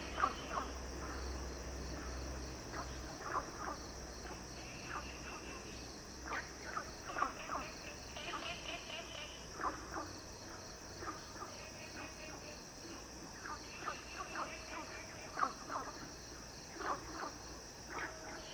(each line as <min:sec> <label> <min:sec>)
0:00.0 Frogs chirping 0:18.5